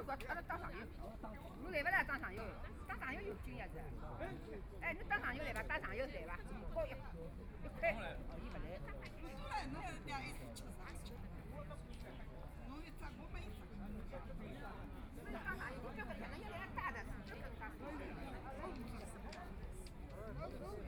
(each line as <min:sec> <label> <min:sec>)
0:00.0 elderly people gathered in the sun chatting 0:20.8